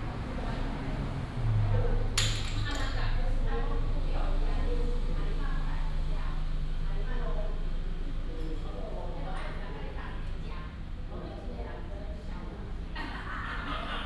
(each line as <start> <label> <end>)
0.0 Traffic sound 8.3